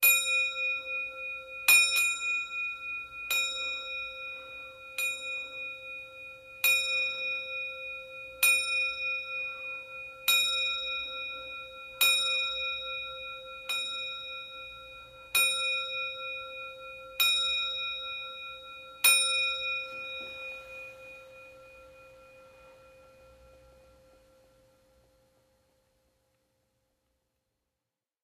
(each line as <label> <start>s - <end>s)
old clock bell 0.0s - 25.4s